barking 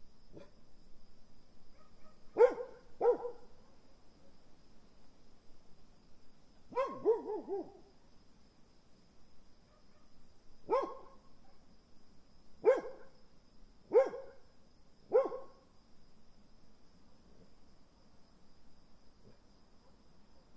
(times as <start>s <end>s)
1.8s 3.5s, 6.8s 7.8s, 10.7s 11.6s, 12.6s 13.1s, 13.9s 14.4s, 15.1s 15.5s